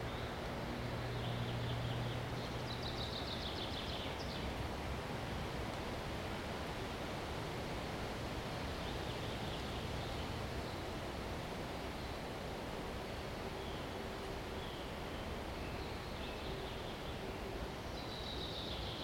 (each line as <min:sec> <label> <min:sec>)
0:00.0 birds 0:04.6
0:00.0 Wind noise in the trees 0:19.0
0:00.0 noise of traffic in the distance 0:19.0
0:08.5 birds 0:11.0
0:13.4 birds 0:19.0